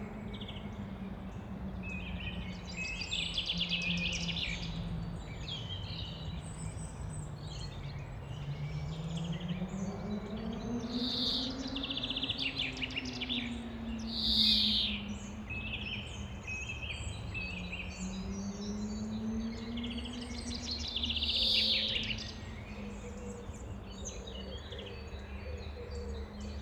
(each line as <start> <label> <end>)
0.0 birds 26.6